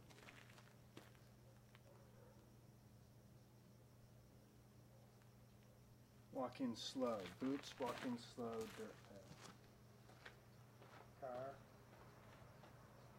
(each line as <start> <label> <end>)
0.0 Hard Sole Boots walking on Hard Packed dirt 1.3
7.0 Hard Sole Boots walking on Hard Packed dirt 12.8
7.2 Boots Running 11.0